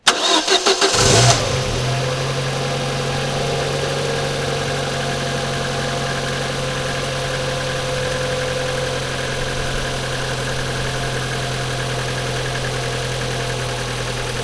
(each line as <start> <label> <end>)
0.0 car engine start 14.4